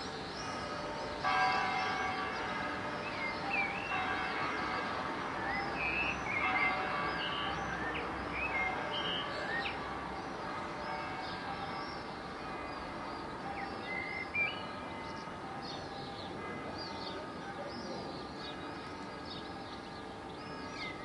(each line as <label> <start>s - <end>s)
pealing of church bells 0.0s - 21.0s